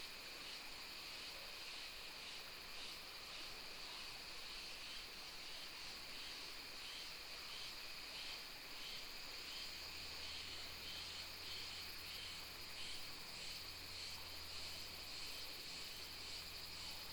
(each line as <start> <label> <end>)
0.1 Cicadas sound 17.1